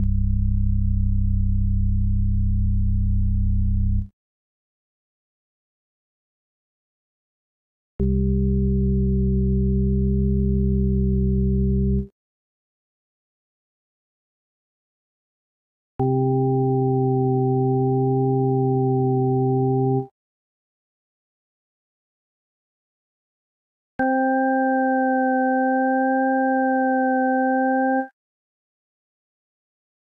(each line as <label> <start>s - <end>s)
synthesizer 16.0s - 20.1s
synthesizer 24.0s - 28.2s